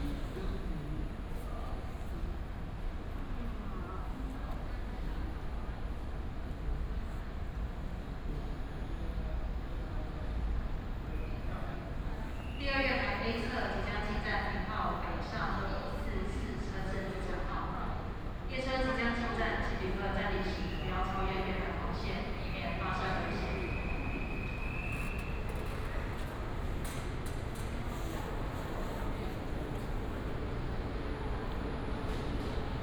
Train arrived at the station 0:00.0 - 0:32.8
Station information broadcast 0:18.9 - 0:25.1

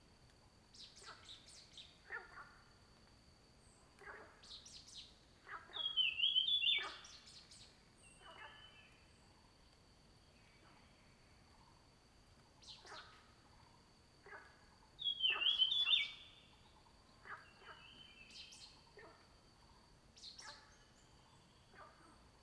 Frogs chirping 0:03.7 - 0:09.2
Frogs chirping 0:12.6 - 0:22.1
Bird sounds 0:15.0 - 0:16.2

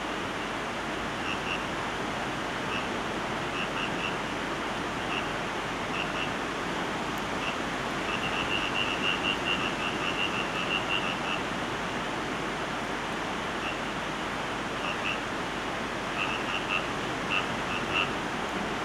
frogs by the sea 0:00.0 - 0:18.8
sea 0:00.0 - 0:18.8

